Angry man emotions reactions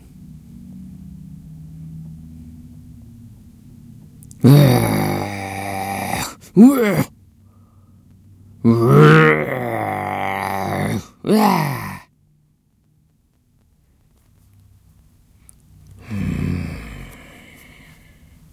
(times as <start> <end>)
4.4 7.1, 8.6 12.0